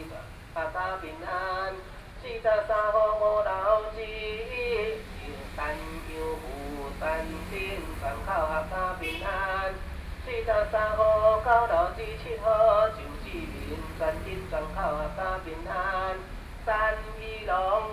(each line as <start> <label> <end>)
0.0 Read singing the name of the household 17.9